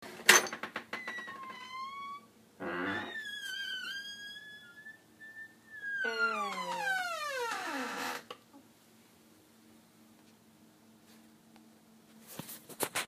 0.3s Door Squeaking 8.4s

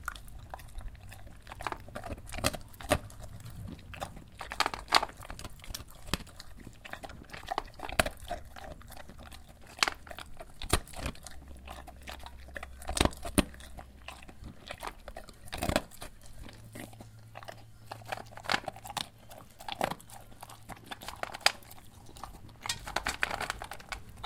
0.0s dog drinking and eating dog food from her bowl 24.2s

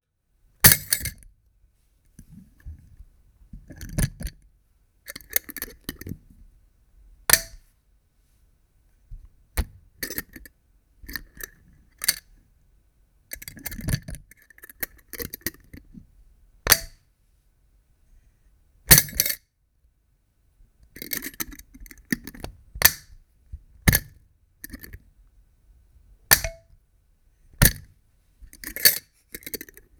26.3s glass swing-top bottle with liquid content, popping open and closing 26.7s

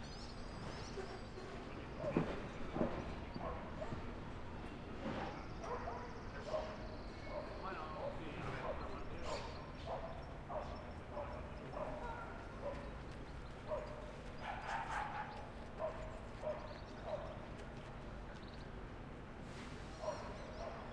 0.7s Humans 18.9s

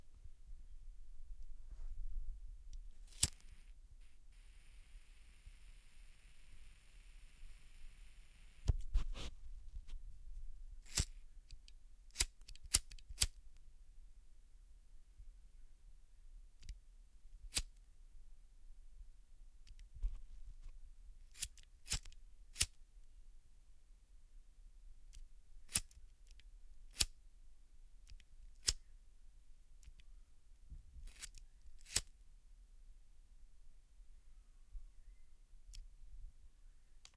3.1s lighter 8.8s
10.8s lighter 13.4s
17.5s lighter 17.7s
21.3s lighter 22.8s
25.7s lighter 27.1s
28.1s lighter 28.9s
31.1s lighter 32.1s

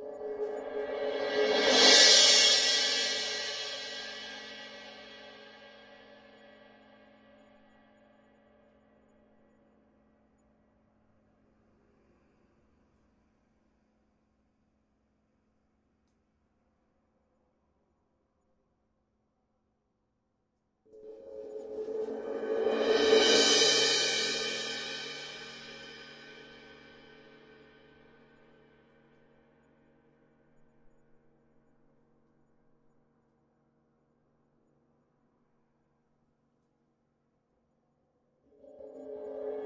0.0s cymbal swells 5.8s
20.9s cymbal swells 27.3s
38.6s cymbal swells 39.6s

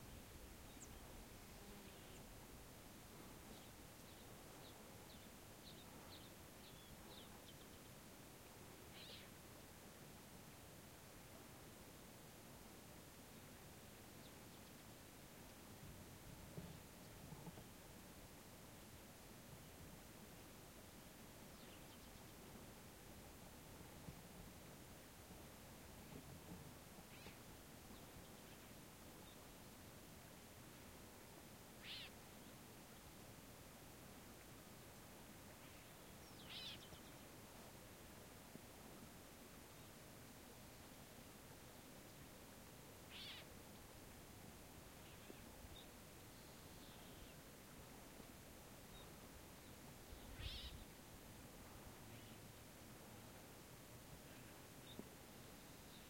35.6s birds 37.3s
43.1s birds 43.5s
48.9s birds 50.9s

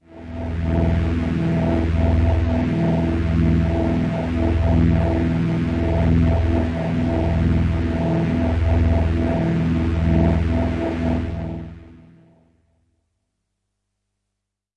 0.0s space pad 12.4s

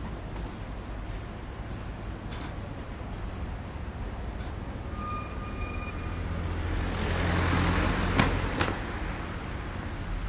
0.0s cart 6.6s
0.0s cars driving on the road 10.2s

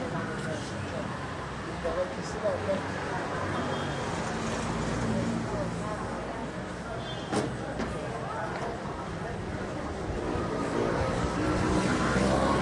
5.4s walking among people 12.6s

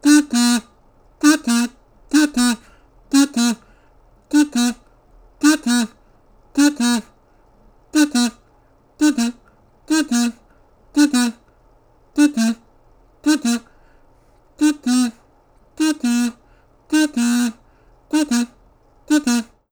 0.0s kazoo 'cuckoo' imitation 3.6s
4.3s kazoo 'cuckoo' imitation 4.8s
5.4s kazoo 'cuckoo' imitation 6.0s
6.6s kazoo 'cuckoo' imitation 7.1s
8.0s kazoo 'cuckoo' imitation 8.4s
9.0s kazoo 'cuckoo' imitation 10.4s
11.0s kazoo 'cuckoo' imitation 11.4s
12.2s kazoo 'cuckoo' imitation 12.6s
13.2s kazoo 'cuckoo' imitation 13.7s
14.6s kazoo 'cuckoo' imitation 15.2s
15.8s kazoo 'cuckoo' imitation 19.6s

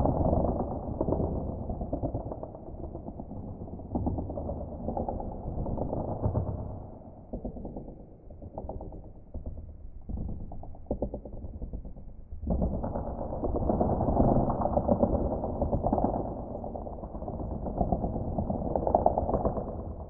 0.0s cookiecrack earthquake 20.0s

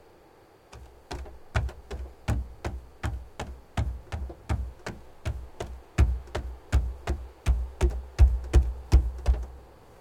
0.0s crickets 10.0s
0.8s person running on a wooden platform 9.6s

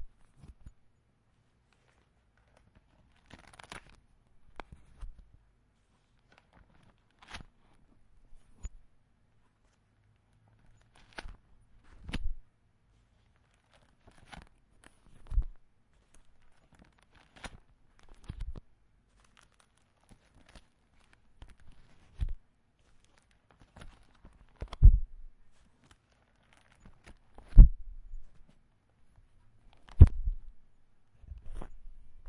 0.0s searching papers 32.2s
1.7s opening folder 4.0s
6.2s opening folder 7.6s
10.6s opening folder 12.4s
13.4s opening folder 25.0s
25.6s opening folder 28.6s
29.7s opening folder 30.4s
31.3s opening folder 32.2s

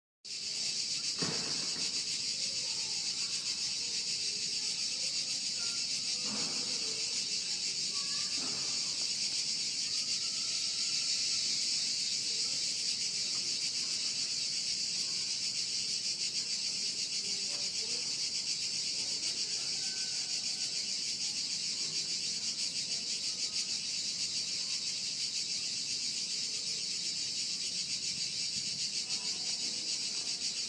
0.2s Cicadas 30.6s
1.2s Apartment Voices 24.0s

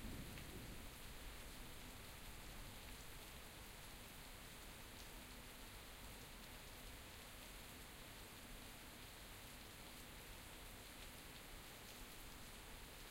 0.0s thunder 0.9s
0.0s rain 13.1s

